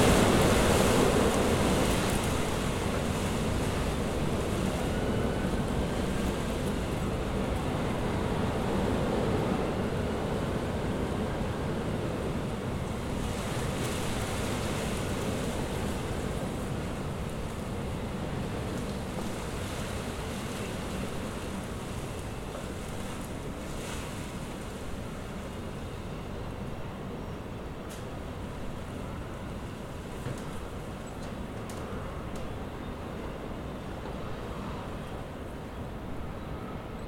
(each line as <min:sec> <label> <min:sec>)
0:00.0 Strong gusts of wind 0:37.0